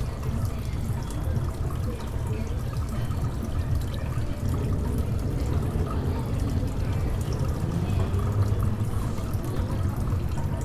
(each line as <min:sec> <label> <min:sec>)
0:00.0 Fountain 0:10.6
0:00.0 People talking and passing by 0:10.6